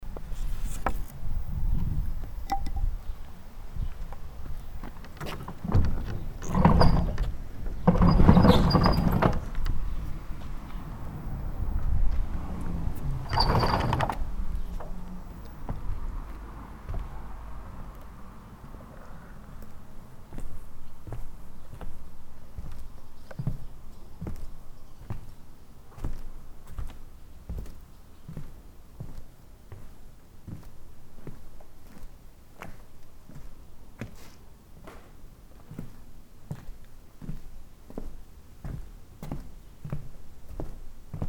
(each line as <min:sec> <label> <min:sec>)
0:00.0 walking around inside 0:41.2
0:05.0 pushing open the door 0:10.6
0:13.0 pushing open the door 0:15.0